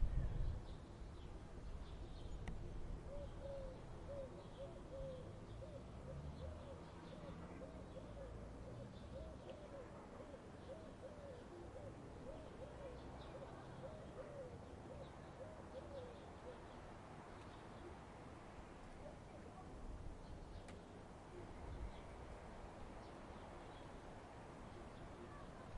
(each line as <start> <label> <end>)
0.0 little wind 4.0
0.0 birds 25.7